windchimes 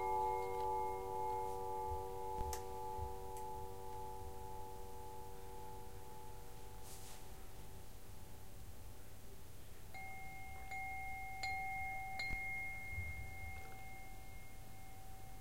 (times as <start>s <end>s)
0.0s 6.5s, 9.9s 15.4s